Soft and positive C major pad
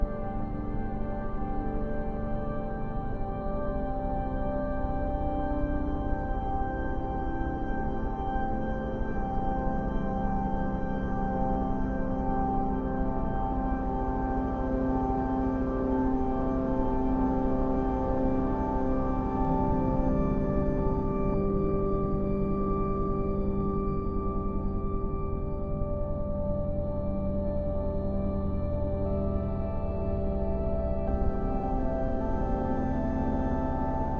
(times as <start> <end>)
24.9 34.1